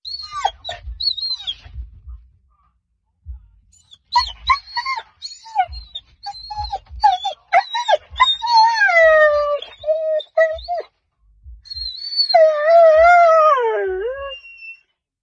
0.1s Malinois Belgian Shepherd dog impatiently whining 1.8s
3.8s Malinois Belgian Shepherd dog impatiently whining 10.9s
11.7s Malinois Belgian Shepherd dog impatiently whining 14.8s

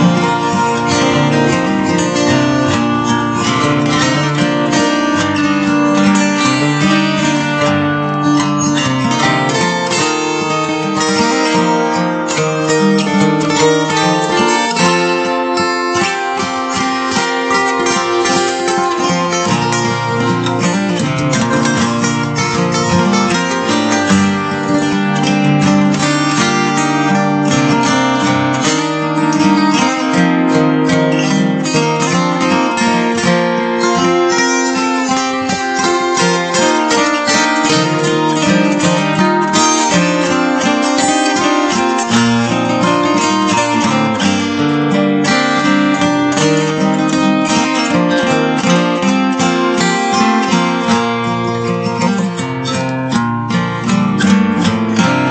0.0s Acoustic Guitar 55.3s

